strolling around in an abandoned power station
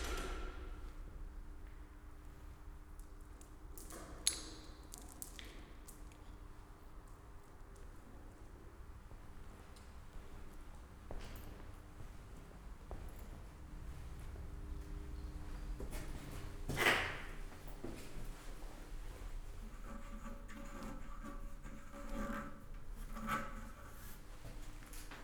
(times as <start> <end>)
4.4 19.3